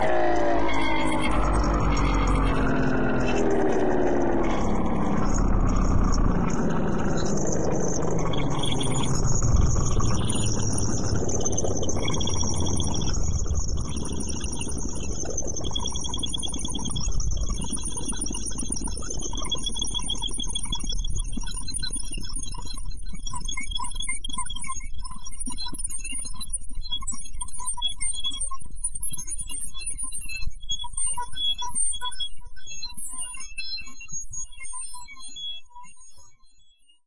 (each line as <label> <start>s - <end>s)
wheels 0.0s - 15.7s
Motor slowing down synthetically 0.0s - 22.2s